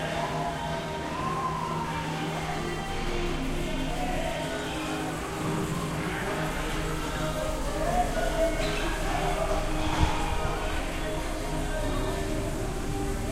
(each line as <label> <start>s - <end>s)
people 0.0s - 13.3s